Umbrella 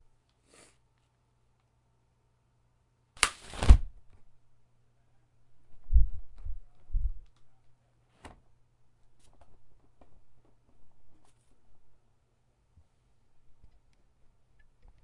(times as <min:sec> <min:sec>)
0:03.2 0:04.0